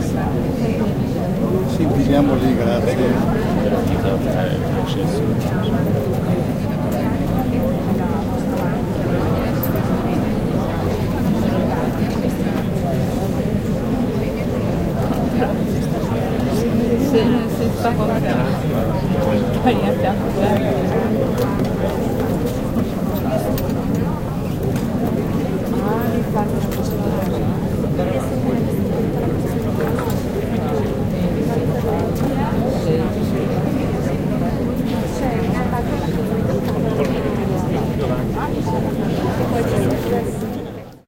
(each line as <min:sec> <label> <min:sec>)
0:00.0 people 0:41.0